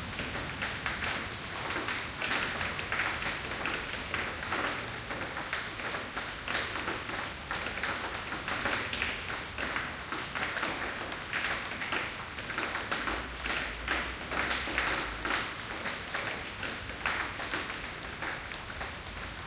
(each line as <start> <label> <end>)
0.0 light rain 19.4